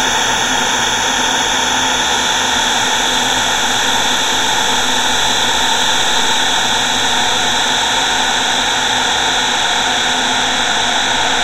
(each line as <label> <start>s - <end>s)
ambient space drone 0.0s - 11.4s